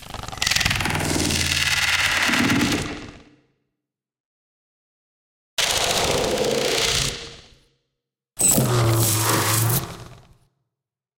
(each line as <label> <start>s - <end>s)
Alien/Robot Sounds 8.4s - 10.4s